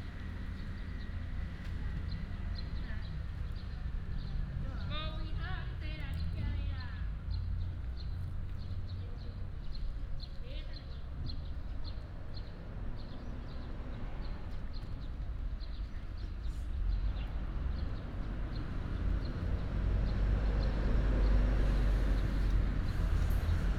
Traffic sound 0:00.0 - 0:23.7

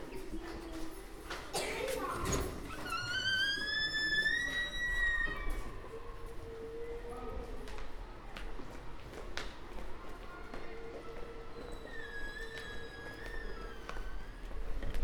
using doors and stairs 0:01.3 - 0:05.9
using doors and stairs 0:11.0 - 0:15.0

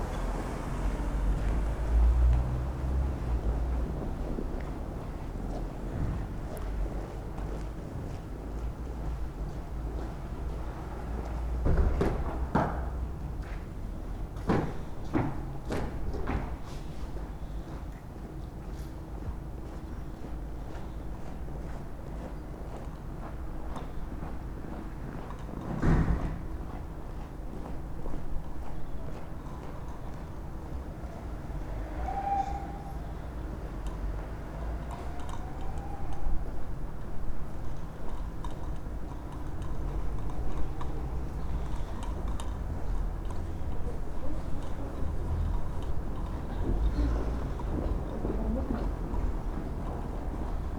street ambience 0:00.0 - 0:50.7
passengers 0:28.4 - 0:50.7

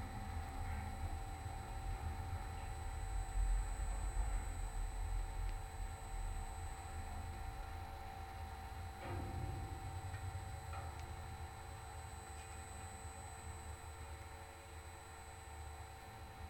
surrounding electromagnetic field 0:00.0 - 0:16.4
big metallic light tower 0:08.8 - 0:14.2

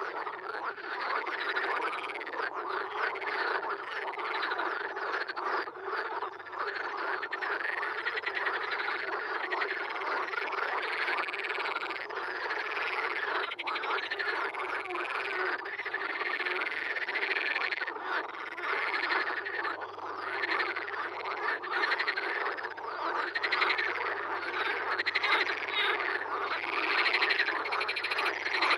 frog concert 0:00.0 - 0:28.7

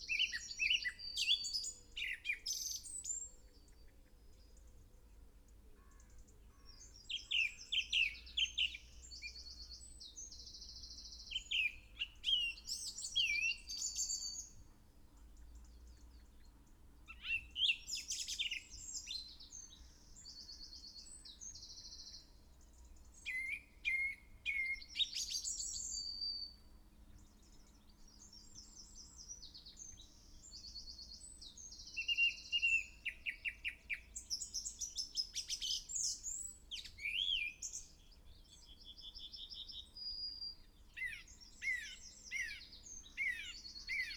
song thrush in song 0:00.0 - 0:03.8
song thrush in song 0:06.2 - 0:14.7
song thrush in song 0:15.4 - 0:44.1
blackbird 0:17.1 - 0:22.3
blackbird 0:23.0 - 0:44.1

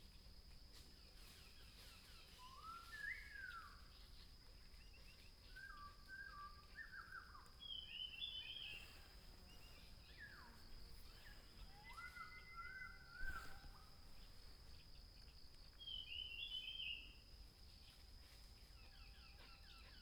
Birds singing 0:05.5 - 0:17.1
dog 0:18.9 - 0:20.0

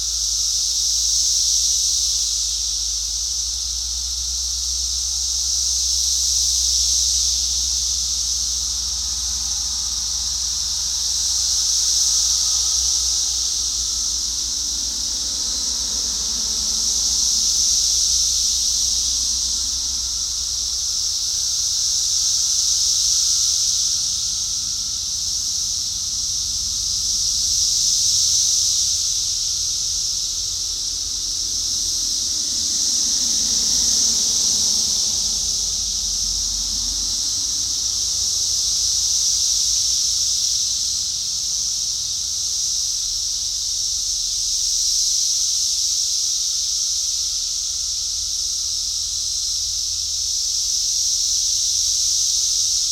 Cicadas 0:00.0 - 0:52.9
distant traffic 0:00.0 - 0:39.7

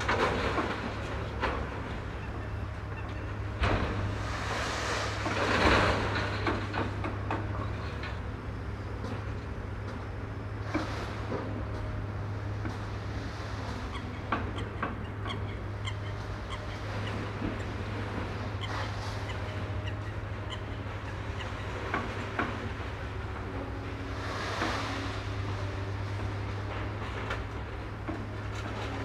heavily laden coal barge passes by 0:00.0 - 0:29.0

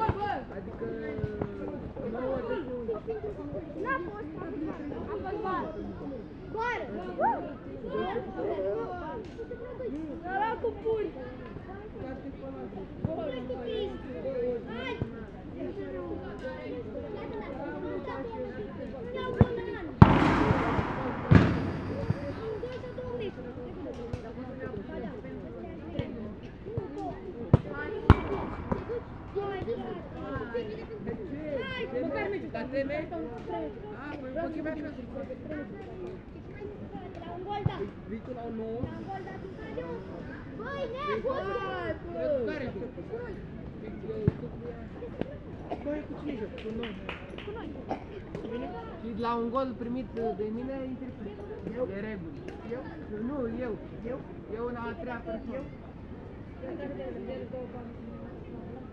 Kids Playing Football 0:00.0 - 0:32.8
Kids Playing Football 0:36.1 - 0:46.5
Kids Playing Football 0:47.5 - 0:49.2

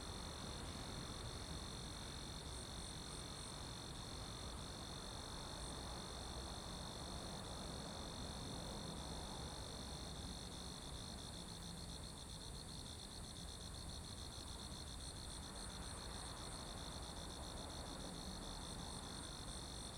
insects in the bushes 0:00.0 - 0:19.9

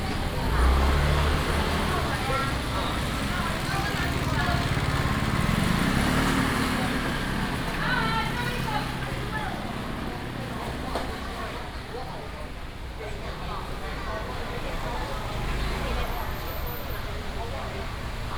vendors peddling 0:00.0 - 0:11.9
traffic sound 0:00.0 - 0:18.3
walking in the traditional market 0:00.0 - 0:18.3

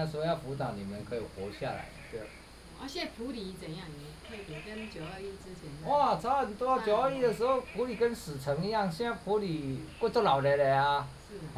Hostel owners Introduce himself 0:00.0 - 0:02.6
Frogs sound 0:01.1 - 0:11.5
Hostel owners Introduce himself 0:05.8 - 0:11.4

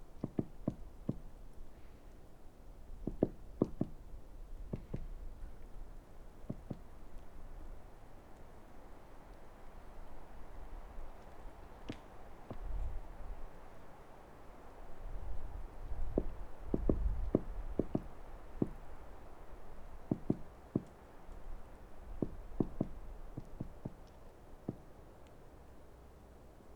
woodpecker's morse 0:00.0 - 0:02.3

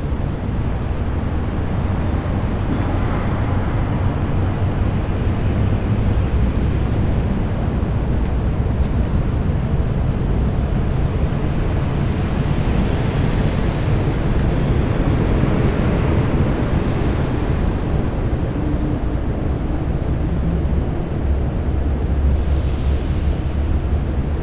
sounds from the streets 0:00.0 - 0:24.4

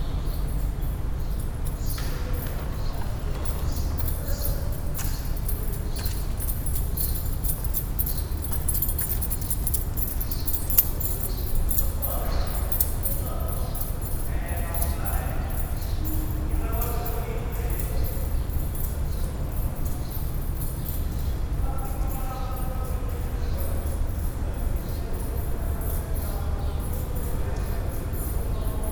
birds 0:00.0 - 0:28.8
people passing 0:02.1 - 0:20.5

